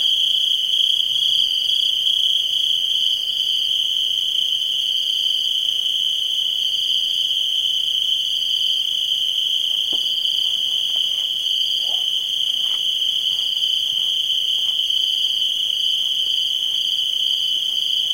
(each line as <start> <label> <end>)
0.0 crickets 18.1
9.9 occasional camp clatter 14.9